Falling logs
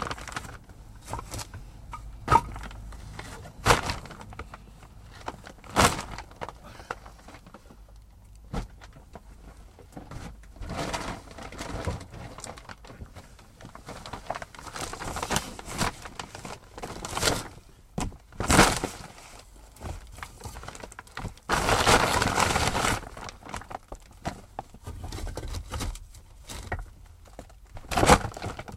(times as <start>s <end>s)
0.0s 7.6s